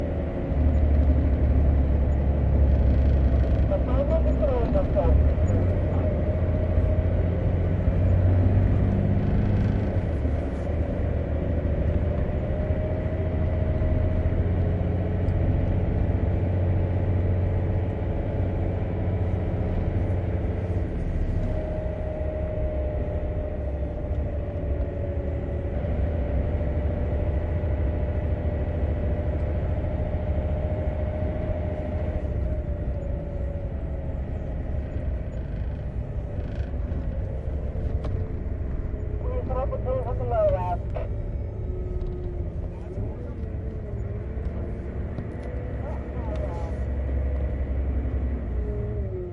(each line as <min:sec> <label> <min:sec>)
0:00.0 haul truck, filled with sand, driving 0:49.3